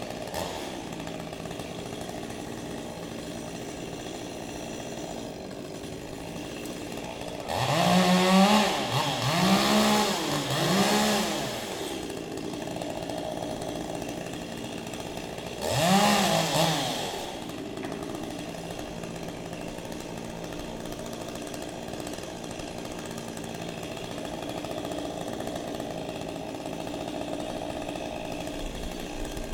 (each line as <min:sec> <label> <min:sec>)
0:00.0 Cutting down a tree 0:29.5